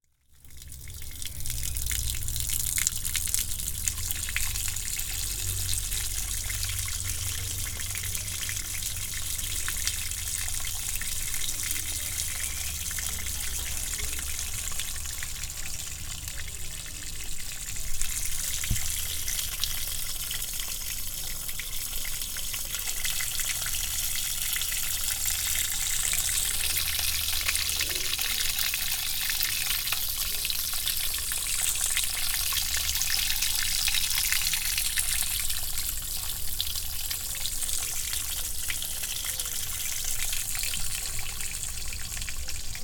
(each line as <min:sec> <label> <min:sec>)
0:00.1 Gutter water flowing 0:42.8